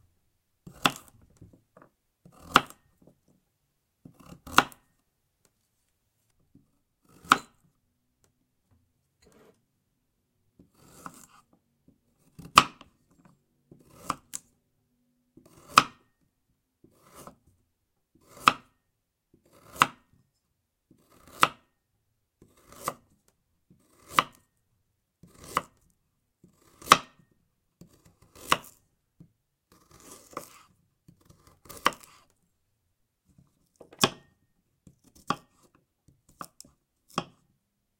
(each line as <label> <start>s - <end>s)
Cutting the carrot 0.6s - 1.5s
Cutting the carrot 2.2s - 3.1s
Cutting the carrot 4.0s - 5.0s
Cutting the carrot 7.0s - 8.3s
Cutting the carrot 10.6s - 14.6s
Cutting the carrot 15.4s - 16.2s
Cutting the carrot 16.8s - 17.5s
Cutting the carrot 18.2s - 20.3s
Cutting the carrot 20.9s - 21.8s
Cutting the carrot 22.4s - 24.6s
Cutting the carrot 25.2s - 32.3s
Cutting the carrot 33.3s - 37.6s